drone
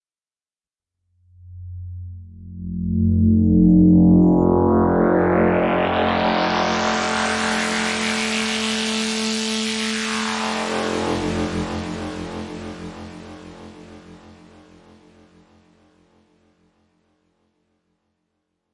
0:01.2 0:16.2

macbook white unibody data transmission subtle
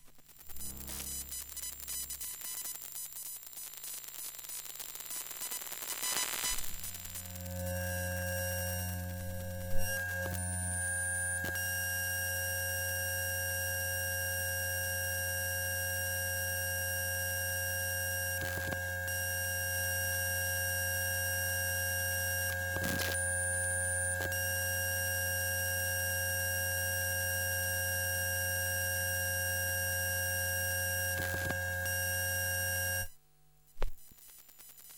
0:00.1 0:10.7

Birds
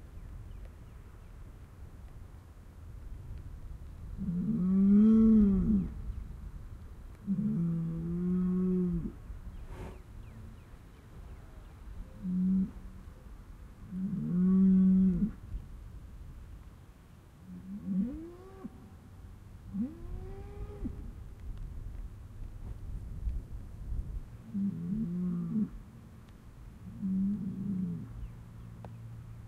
0:00.0 0:01.8, 0:09.1 0:13.4, 0:27.0 0:29.4

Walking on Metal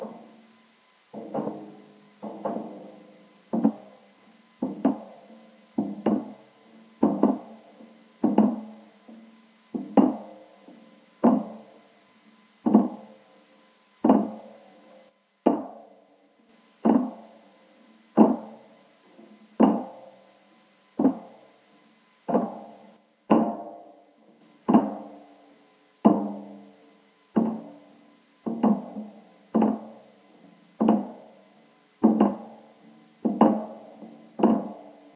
0:01.1 0:04.0, 0:04.6 0:05.2, 0:05.8 0:11.8, 0:12.6 0:13.1, 0:14.0 0:14.5, 0:16.6 0:17.3, 0:18.2 0:18.5, 0:21.0 0:21.4, 0:22.3 0:23.7, 0:24.5 0:25.2, 0:26.0 0:26.6, 0:27.4 0:27.8, 0:28.4 0:31.4, 0:32.0 0:35.1

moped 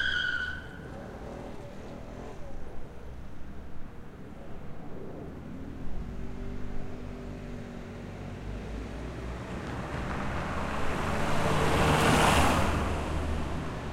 0:00.0 0:03.7

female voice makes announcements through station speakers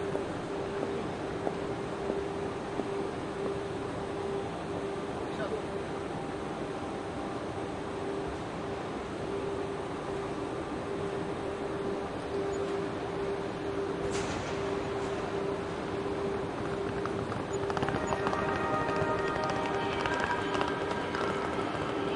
0:18.2 0:22.1

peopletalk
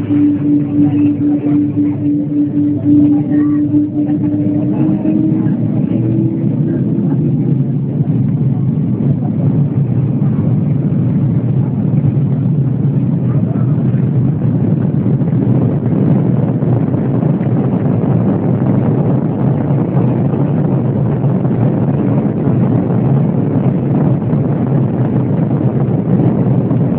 0:00.0 0:14.9

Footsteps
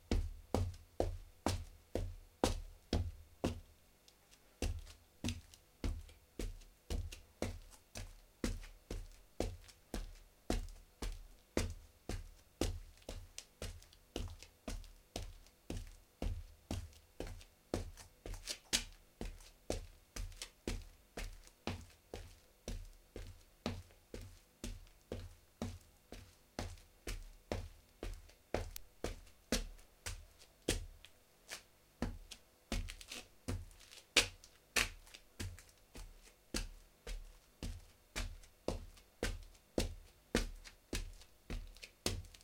0:31.5 0:42.4

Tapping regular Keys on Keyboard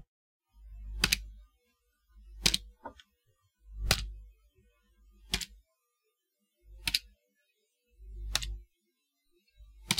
0:01.0 0:01.3, 0:08.3 0:08.6

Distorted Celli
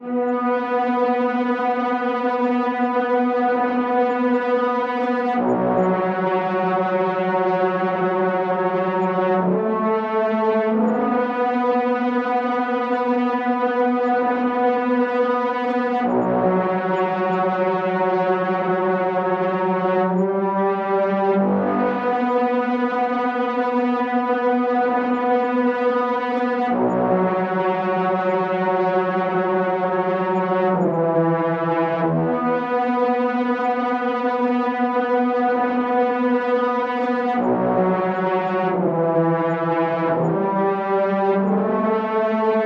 0:05.3 0:10.0

